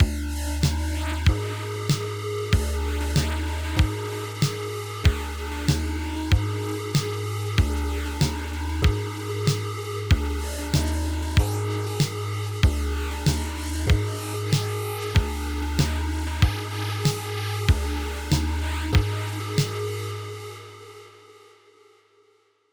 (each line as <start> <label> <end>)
0.0 beat 19.8